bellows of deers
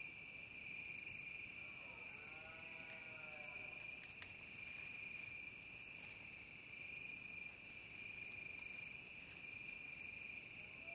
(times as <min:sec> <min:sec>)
0:01.6 0:03.8